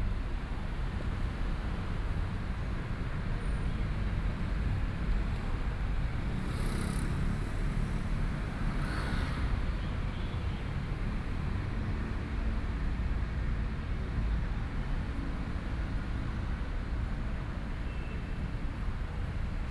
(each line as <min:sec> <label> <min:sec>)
0:00.1 Traffic Sound 0:19.7